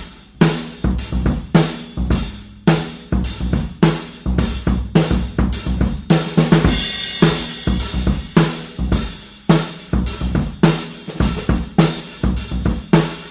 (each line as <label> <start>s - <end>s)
snare drum tuned low 0.0s - 11.4s
Straight drum beats 0.0s - 13.3s